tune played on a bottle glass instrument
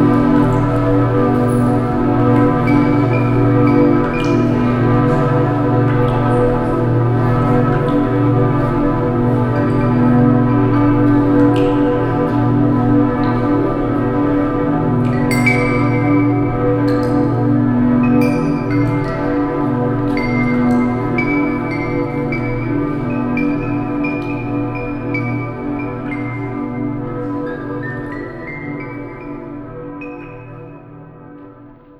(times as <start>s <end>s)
15.0s 17.2s